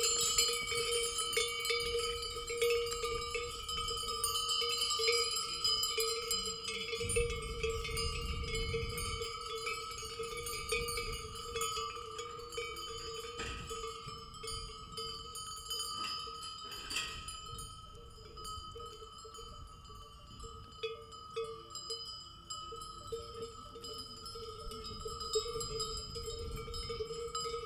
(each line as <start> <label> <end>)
0.0 cows and goats all with bells 27.6
0.0 rounded up by farmers 27.6